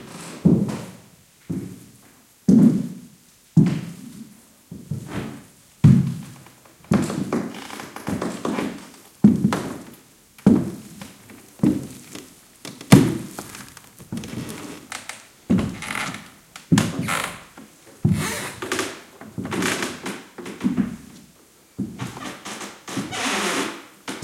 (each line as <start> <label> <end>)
0.0 walking on a creaky wooden floor 1.9
4.7 walking on a creaky wooden floor 24.2